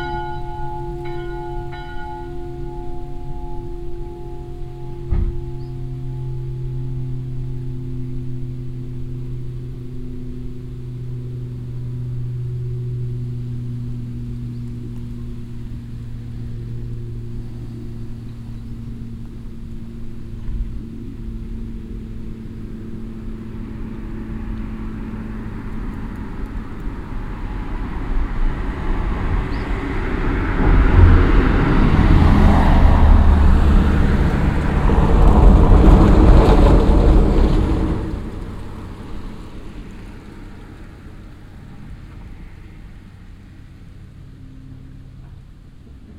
church bells 0:00.0 - 0:35.8
cars passing by on the stoney road 0:00.0 - 0:46.1

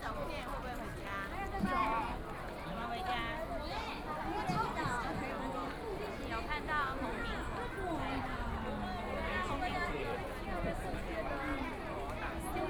Very many people in the park 0:00.0 - 0:12.6

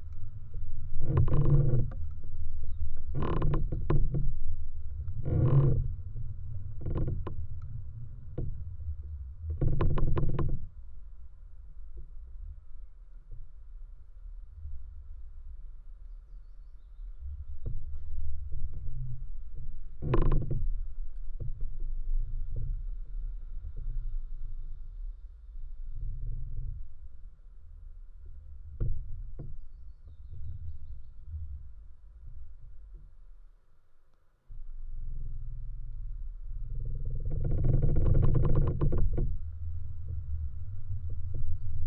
creaking tree 0:00.0 - 0:10.9
creaking tree 0:17.2 - 0:24.7
creaking tree 0:28.2 - 0:31.7
creaking tree 0:34.5 - 0:41.8

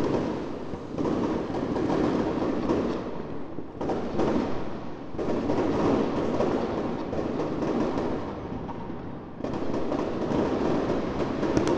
firecrackers and bangers 0:00.0 - 0:11.7

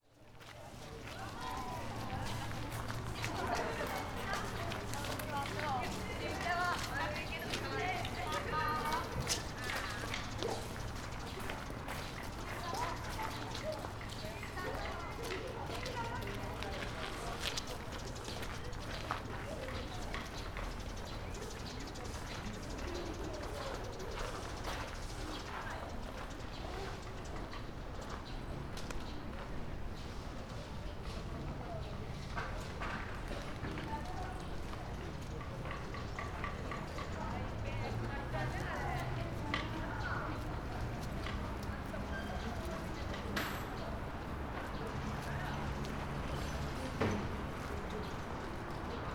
conversations 0:00.2 - 0:49.1
visitors passing 0:00.3 - 0:49.1

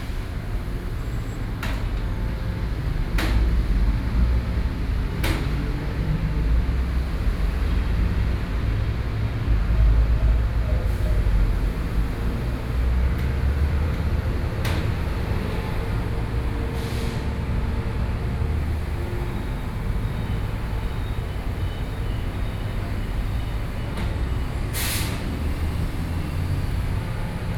construction machinery 0:00.0 - 0:27.5

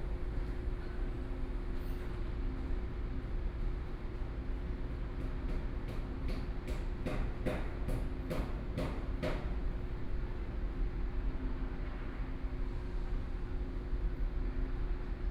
Railway Construction 0:00.0 - 0:15.3

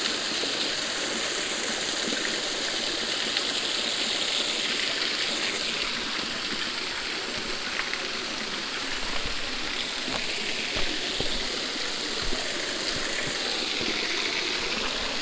waterfall 0:00.0 - 0:15.2

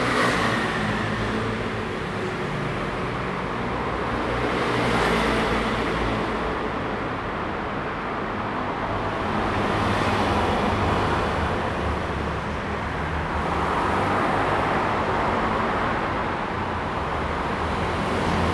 Traffic sound 0:00.0 - 0:18.5

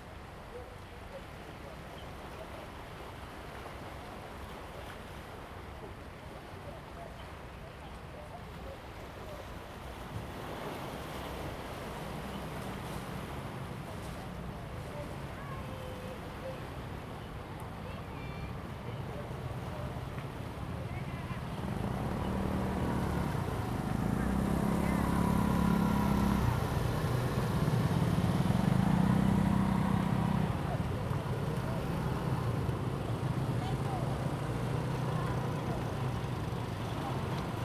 waves and tides 0:00.0 - 0:37.6
Tourist 0:19.2 - 0:37.6

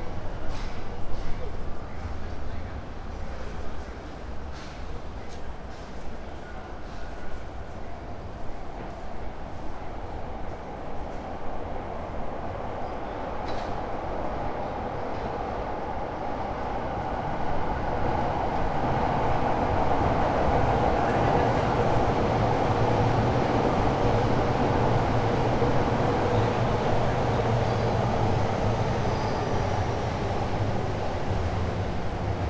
roaring trains 0:00.0 - 0:32.4

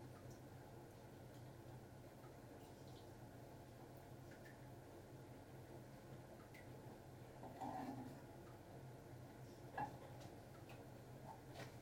noise of the dishwasher 0:00.0 - 0:11.8
little culinary noises 0:00.0 - 0:11.8

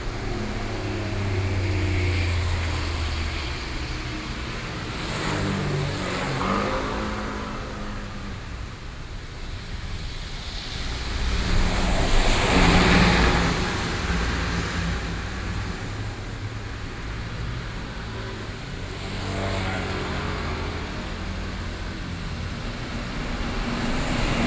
Traffic noise 0:00.0 - 0:24.4
rainy day 0:00.0 - 0:24.4

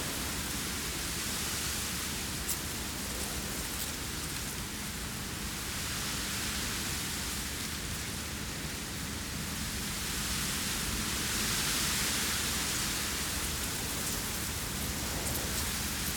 Reeds hissing in the wind 0:00.0 - 0:16.1

